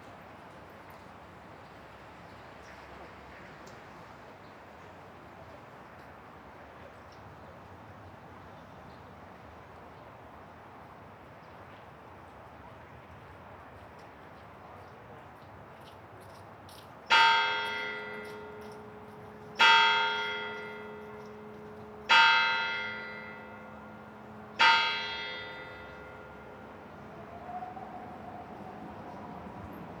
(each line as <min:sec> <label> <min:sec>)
0:17.1 Bell chimes 0:26.8